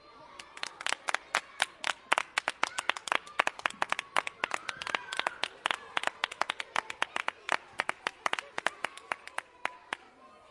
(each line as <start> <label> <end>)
0.4 teachers clap their hands 10.0